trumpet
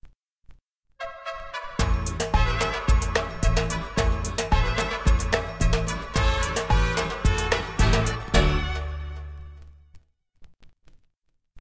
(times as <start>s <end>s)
1.0s 9.7s